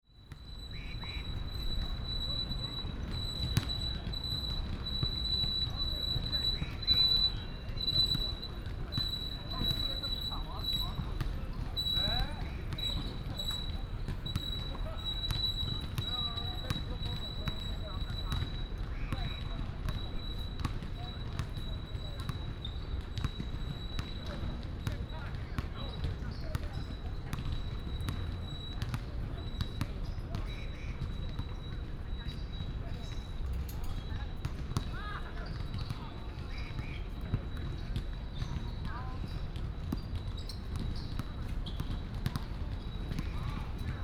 0.4s Basketball sounds 22.2s
32.5s Basketball sounds 44.0s

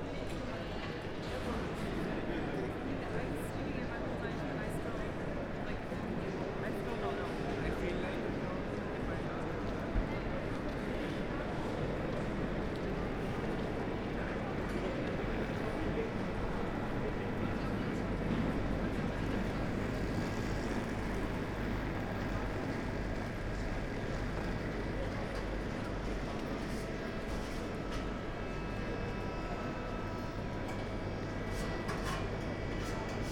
0.0s walking through Hauptbahnhof 33.3s

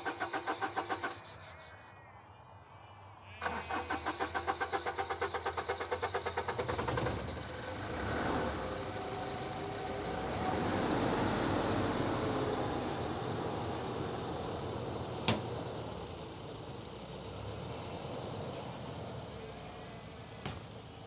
3.4s nearby road 21.0s
3.4s insects 10.0s
13.0s insects 21.0s
18.2s shearers packing up their stuff and driving home 21.0s

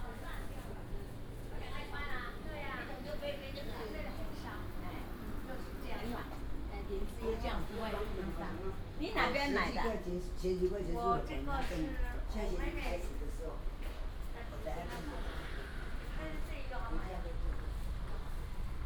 13.7s Traffic sound 18.8s

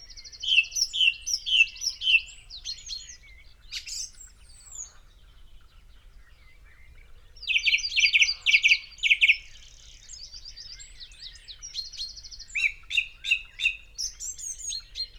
0.3s pheasant 15.1s

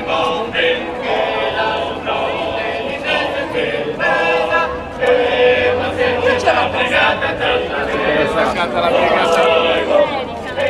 0.0s music performances 10.6s

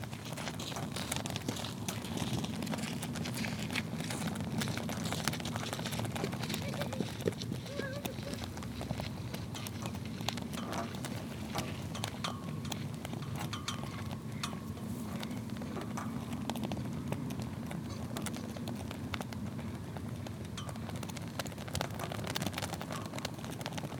0.0s two flags swaying into the wind 23.9s

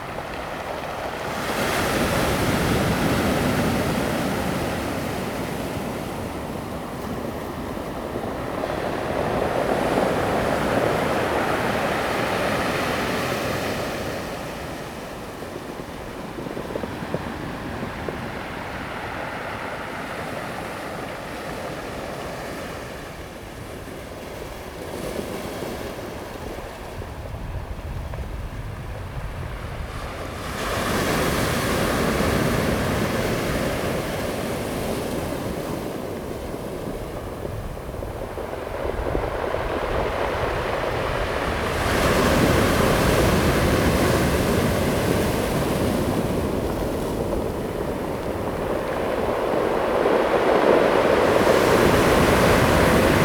0.0s Waves 53.2s

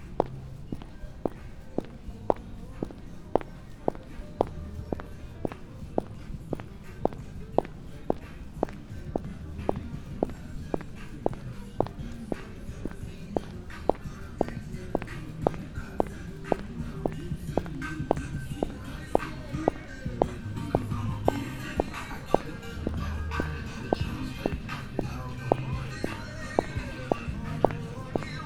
0.0s walking 28.4s

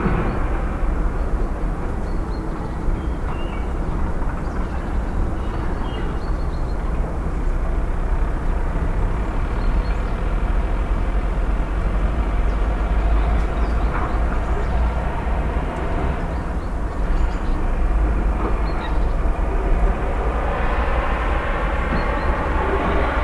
0.0s sounds of a city under construction 23.2s

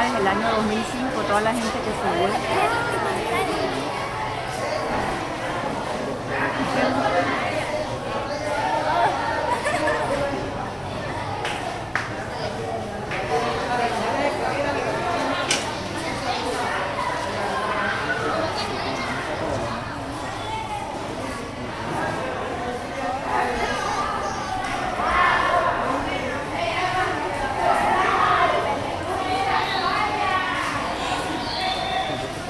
0.0s Students finishing their day 32.4s

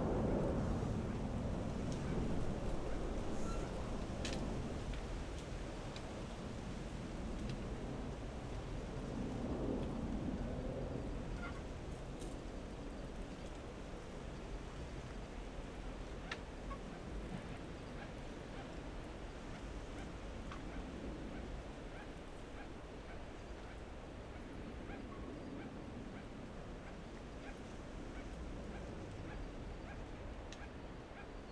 0.0s planes 31.5s
0.0s wind 31.5s

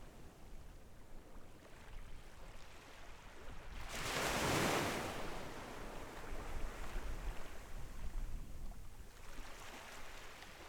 3.8s waves 6.8s
9.1s waves 10.6s

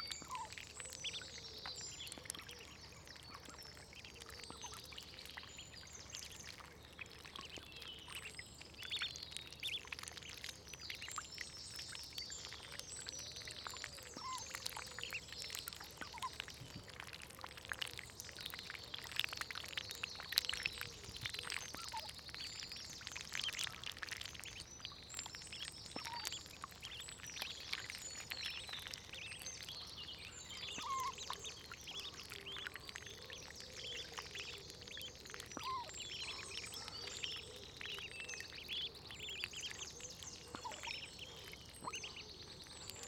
0.0s beak snaps and bloops 5.4s
0.1s Ducklings Feeding 43.0s
6.0s beak snaps and bloops 43.0s

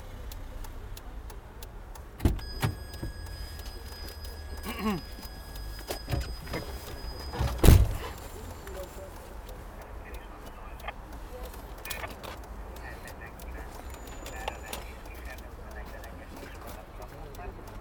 2.4s cash machine 8.6s

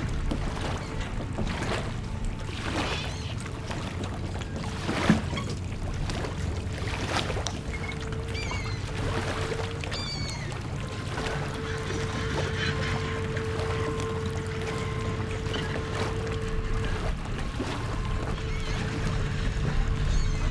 0.0s Hudson River 20.5s

